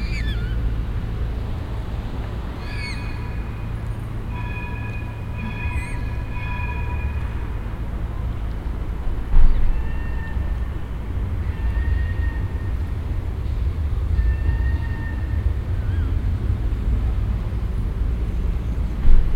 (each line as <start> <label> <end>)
0.0 channel motor boat 19.3
0.0 water bird family passing by 19.3